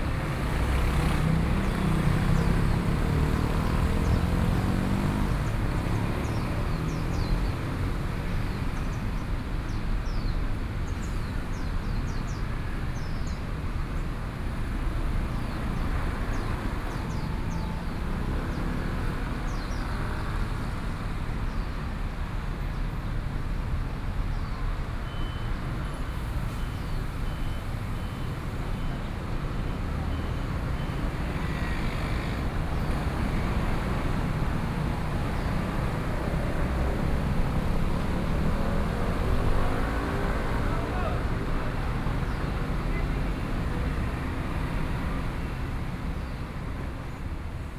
traffic noise 0.0 - 47.7
birds song 0.5 - 14.1
birds song 15.2 - 20.4

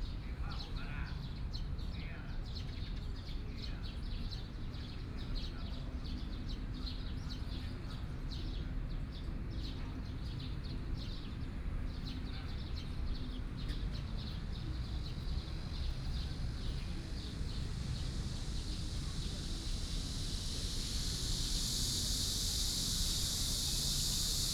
Birdsong 0.0 - 24.5
Cicadas sound 3.7 - 24.5
Traffic Sound 13.4 - 24.5

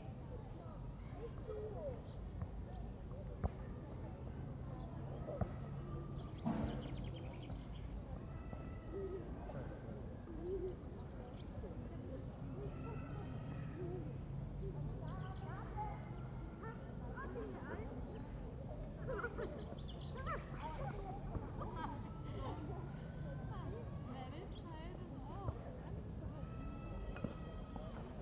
wind 0.0 - 28.2
Birds are singing 4.2 - 8.2
Birds are singing 10.0 - 16.8
Birds are singing 17.6 - 28.2

